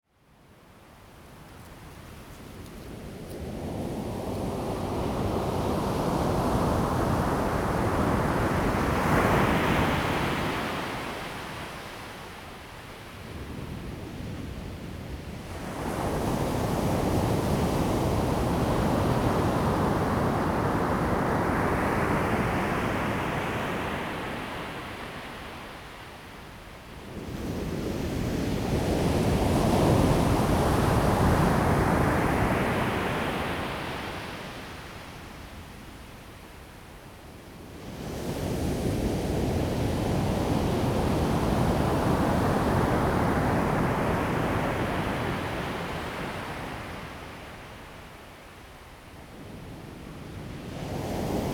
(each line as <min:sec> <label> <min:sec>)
0:49.9 waves 0:51.5